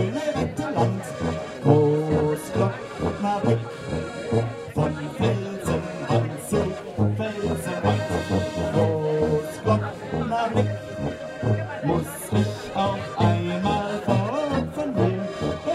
0.0s People sitting in the backyard of a bar 15.7s
0.0s akkordion 15.7s
0.0s brass tuba 15.7s

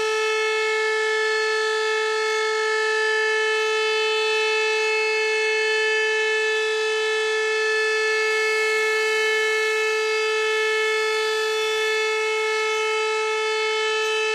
0.0s sirens thru my window 14.3s

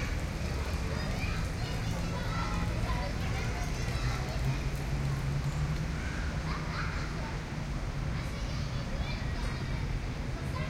0.0s kids playing 5.0s
0.0s Cars passing by 10.6s
0.0s voices 10.6s

